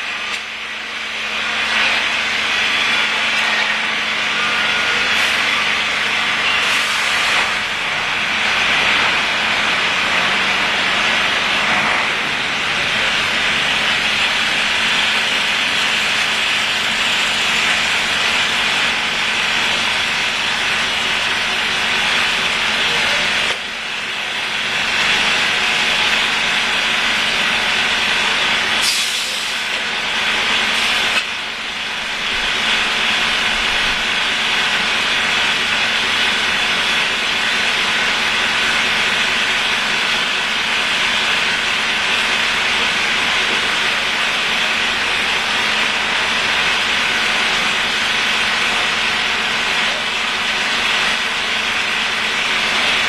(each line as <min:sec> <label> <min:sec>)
0:00.0 workers are patching the holes on the street 0:53.0